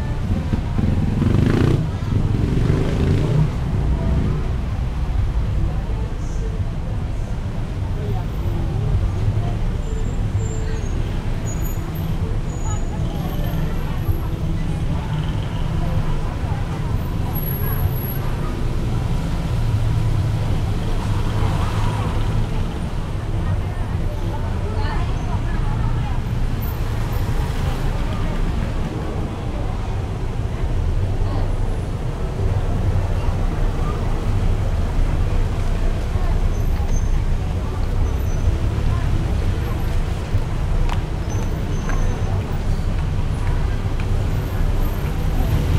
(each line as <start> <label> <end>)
0.0 motorcycles passing by 5.1
0.0 cars 45.7